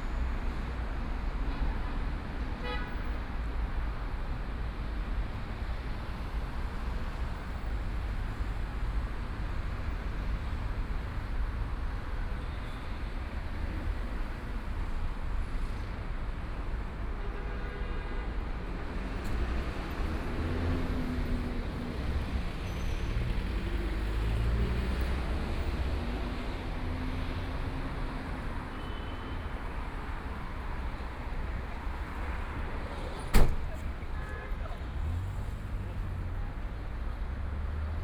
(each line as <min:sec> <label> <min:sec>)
0:00.0 Traffic Sound 0:38.0
0:00.0 crowd on the street 0:38.0
0:29.4 walking on the Road 0:38.0